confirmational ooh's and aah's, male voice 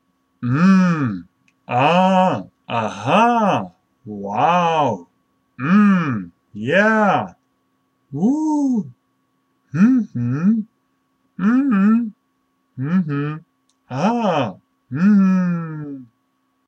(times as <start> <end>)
0.4 7.4, 8.1 9.0, 12.8 16.1